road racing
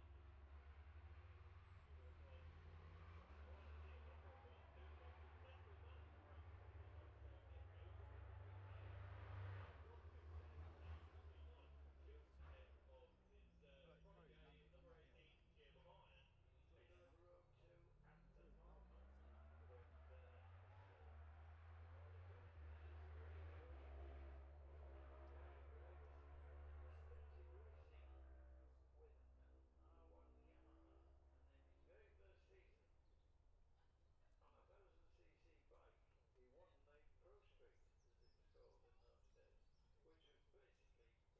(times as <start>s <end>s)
0.0s 33.0s